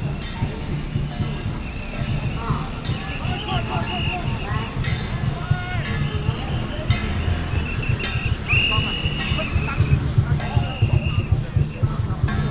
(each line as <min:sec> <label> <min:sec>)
0:00.0 A lot of people 0:12.5
0:00.0 Gongs and drums 0:12.5
0:00.0 Traffic sound 0:12.5
0:07.5 Whistle sound 0:11.4